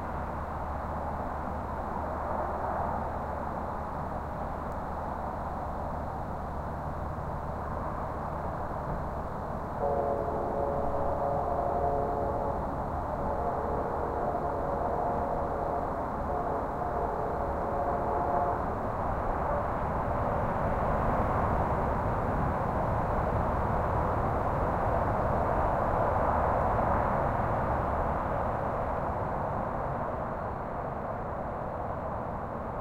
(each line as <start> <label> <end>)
0.0 highway traffic distant far or nearby haze 32.8
8.6 distant freight train toots 21.7